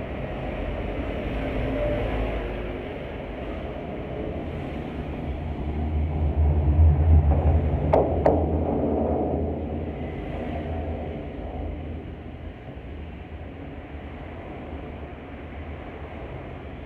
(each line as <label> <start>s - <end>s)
Bridge 0.0s - 16.2s